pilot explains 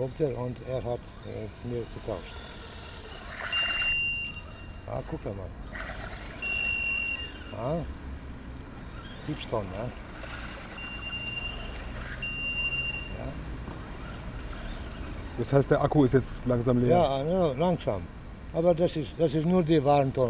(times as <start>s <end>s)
4.9s 5.6s